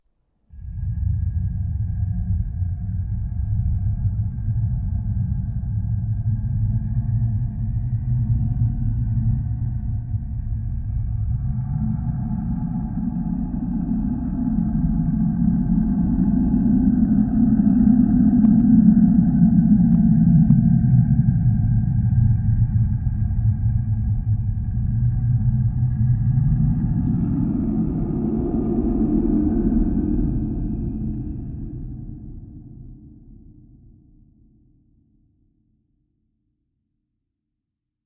rumble 0:00.5 - 0:34.9

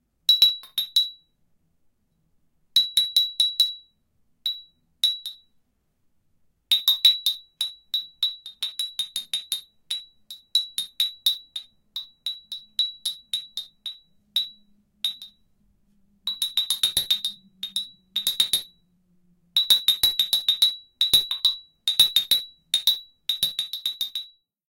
small bell 0:00.3 - 0:01.4
small bell 0:02.8 - 0:05.6
small bell 0:06.7 - 0:15.6
small bell 0:16.2 - 0:18.9
small bell 0:19.6 - 0:24.5

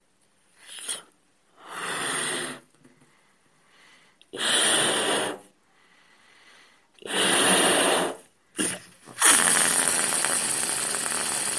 inflating a balloon 0:00.6 - 0:02.7
inflating a balloon 0:04.3 - 0:05.6
inflating a balloon 0:07.0 - 0:11.5
releasing the air 0:07.0 - 0:11.5

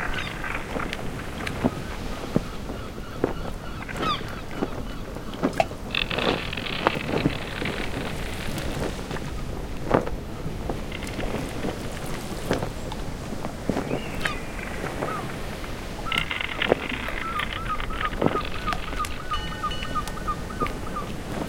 ocean 0:00.0 - 0:21.4
sail 0:00.0 - 0:21.4
wind 0:00.0 - 0:21.4
creak 0:05.9 - 0:09.3
creak 0:10.8 - 0:12.7
creak 0:14.3 - 0:21.4

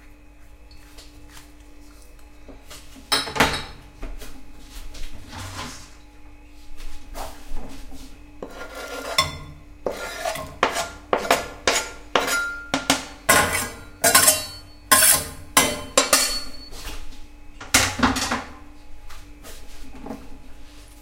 Kitchen Cooking Noises 0:00.0 - 0:21.0

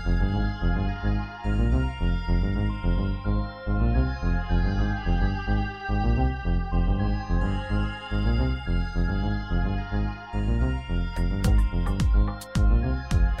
music 0:00.0 - 0:13.4

